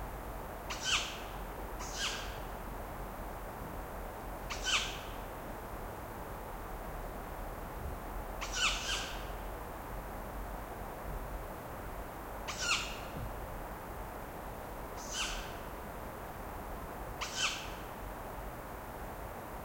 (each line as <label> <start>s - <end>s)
wind of the forest 0.0s - 19.6s
Tawny owl screeching for hours 0.7s - 1.2s
Tawny owl screeching for hours 1.8s - 2.4s
Tawny owl screeching for hours 4.5s - 5.1s
Tawny owl screeching for hours 8.4s - 9.2s
Tawny owl screeching for hours 12.5s - 13.0s
Tawny owl screeching for hours 15.0s - 15.5s
Tawny owl screeching for hours 17.2s - 17.8s